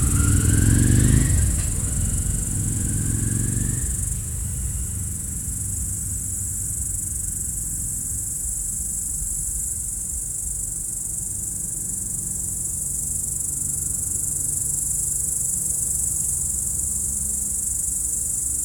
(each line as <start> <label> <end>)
0.0 passage d'une moto en descente 8.0